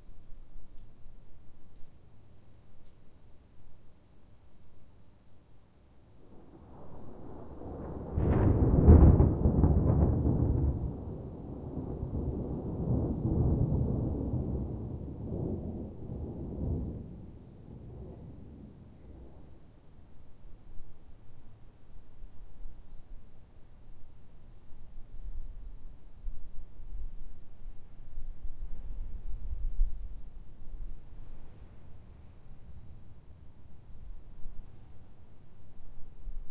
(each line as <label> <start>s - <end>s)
thunder claps and rumbles 6.3s - 19.6s